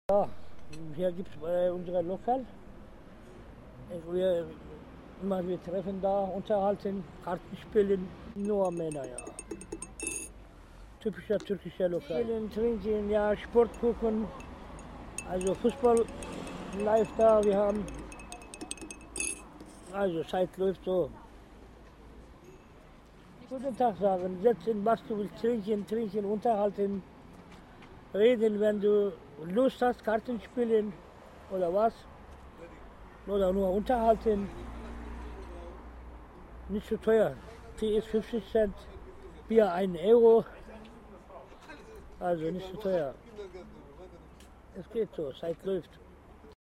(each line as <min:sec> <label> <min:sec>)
0:00.1 old man talking 0:02.5
0:03.8 old man talking 0:04.6
0:05.2 old man talking 0:09.3
0:11.0 old man talking 0:14.4
0:15.2 old man talking 0:16.1
0:16.8 old man talking 0:17.9
0:19.9 old man talking 0:21.2
0:23.5 old man talking 0:27.0
0:28.1 old man talking 0:32.0
0:33.3 old man talking 0:34.5
0:36.7 old man talking 0:40.6
0:42.2 old man talking 0:43.2
0:44.7 old man talking 0:46.0